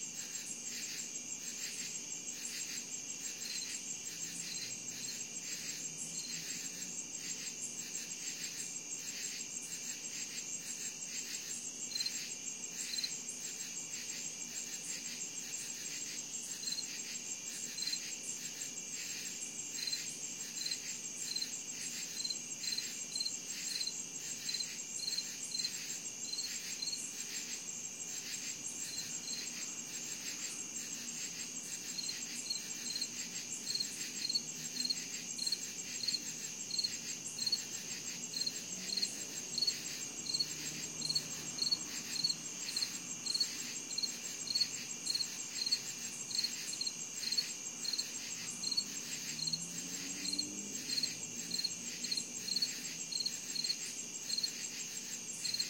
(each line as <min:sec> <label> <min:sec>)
0:00.0 crickets 0:55.6